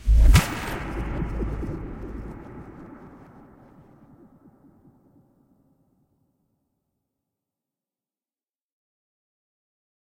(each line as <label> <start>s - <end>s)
Trailer hit 0.0s - 5.4s